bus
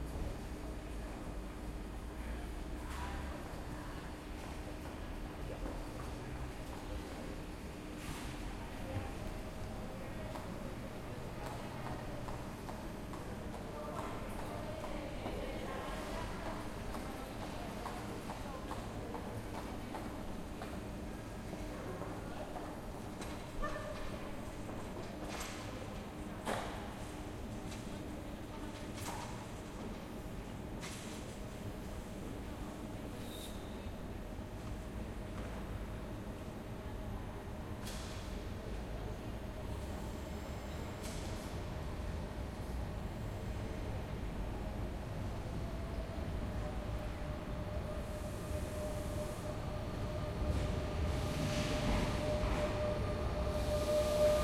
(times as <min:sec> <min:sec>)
0:00.0 0:08.6, 0:34.0 0:54.4